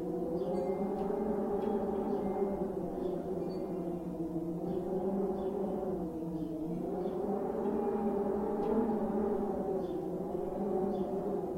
0.0s wind 11.5s
0.5s wind chimes 4.0s

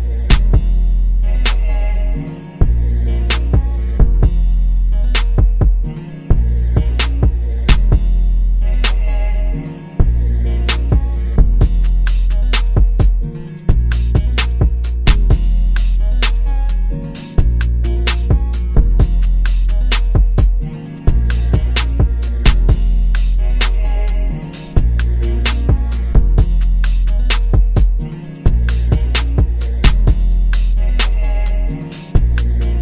0.0s bass 32.8s
0.0s guitar 32.8s
0.3s kicks 0.8s
1.4s snare 1.8s
2.6s kicks 4.4s
3.3s snare 3.7s
5.2s snare 5.5s
5.2s kicks 8.1s
6.9s snare 7.9s
8.8s snare 9.1s
10.7s snare 11.0s
11.8s snare 20.3s
12.6s kicks 15.6s
17.4s kicks 19.3s
19.9s kicks 22.9s
21.0s snare 23.9s
25.4s snare 26.2s
26.8s snare 32.8s
27.4s kicks 30.3s

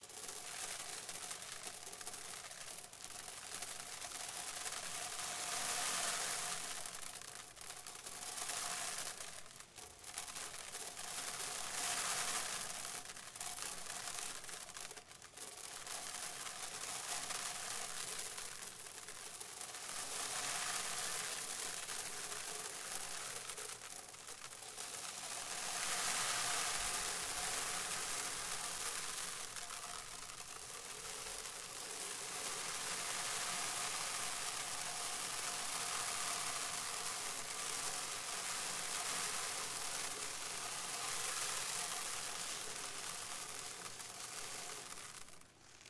0.0s sand falling into a plastic bucket 45.8s

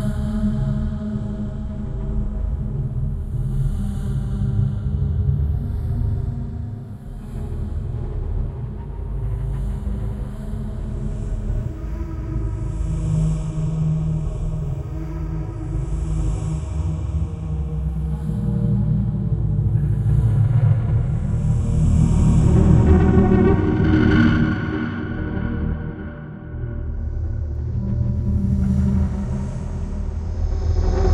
0.0s Choir 31.1s

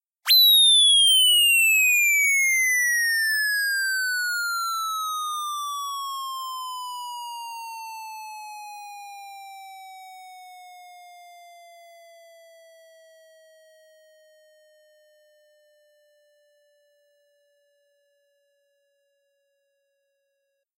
0.3s descending square wave 5.6s

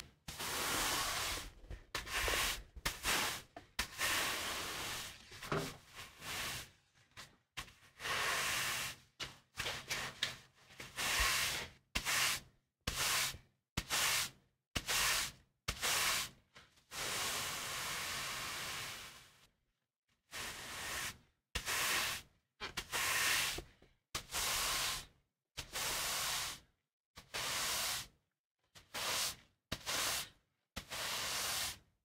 0.1s Sweeping concrete floor with wide broom 19.5s
20.2s Sweeping concrete floor with wide broom 31.9s

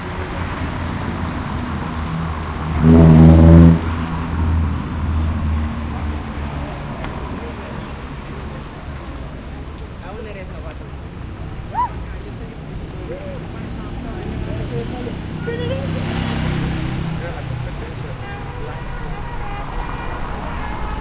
2.7s trumpet player 4.2s
18.2s trumpet player 21.0s

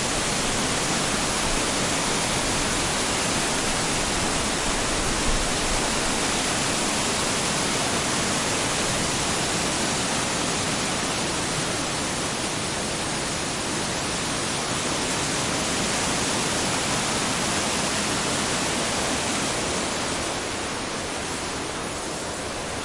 0.0s small rushing river 22.8s
0.0s waterfall 22.8s

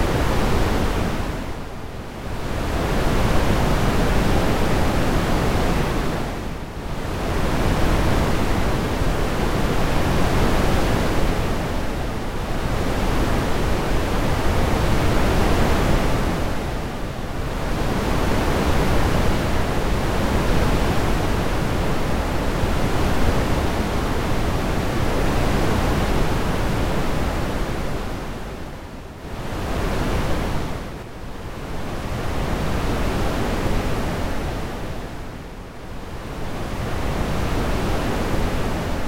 0.0s waves of the sea 39.0s

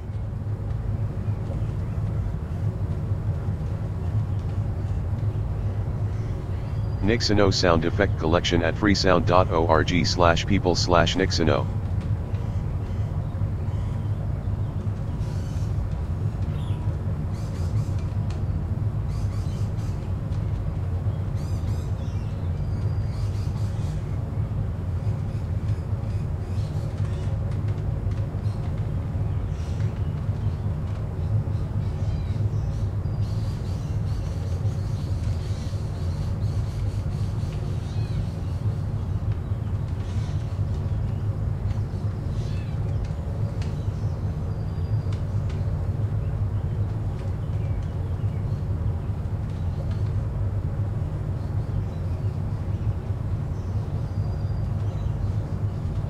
0.0s white noise 11.9s
28.4s birdsong 50.2s

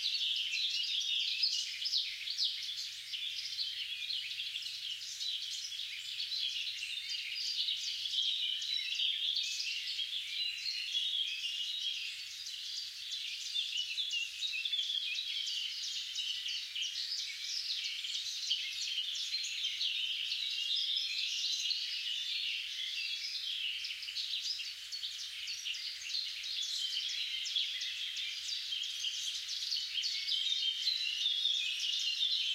0.0s Singing birds 32.5s

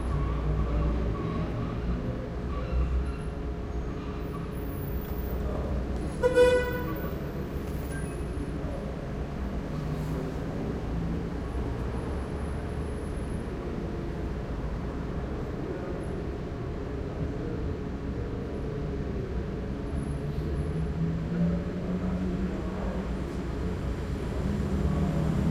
0.0s traffic 25.5s

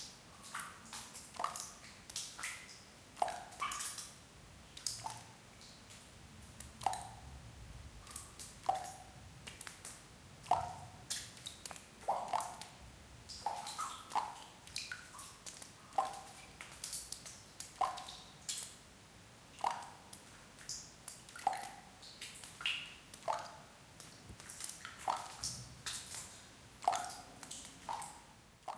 6.6s Water drops in crypt 7.4s
10.4s Water drops in crypt 15.2s

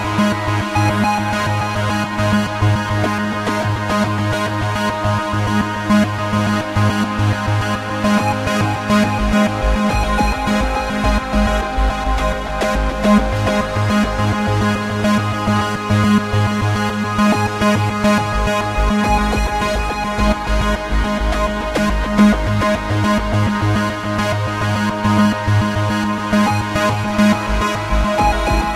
0.0s music 28.7s

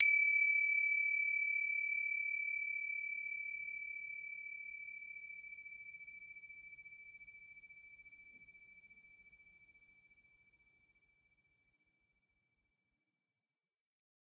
0.0s bells 10.6s

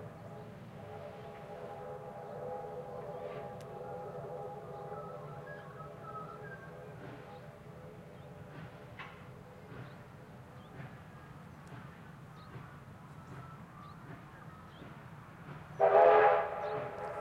0.0s trains whistle 8.7s
0.0s Steam 17.2s
4.6s birds 17.2s
15.7s trains whistle 17.2s

